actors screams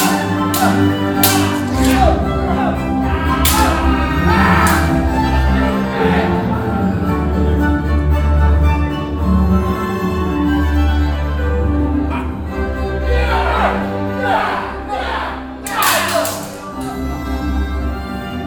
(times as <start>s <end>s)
0.0s 5.0s, 13.1s 17.0s